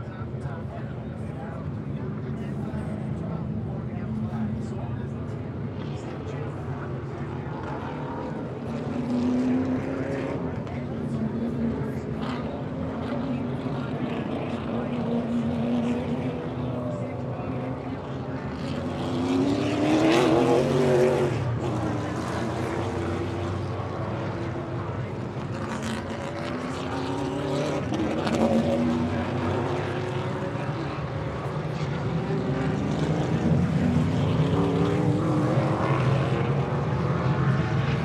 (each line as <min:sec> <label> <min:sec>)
0:00.0 200 lap race 0:38.0